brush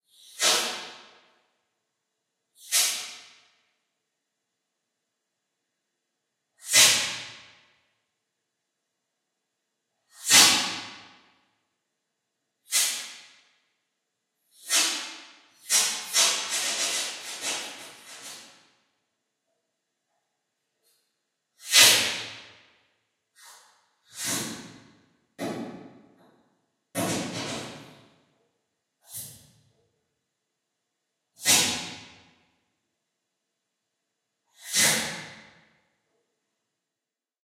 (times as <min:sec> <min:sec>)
0:14.6 0:18.6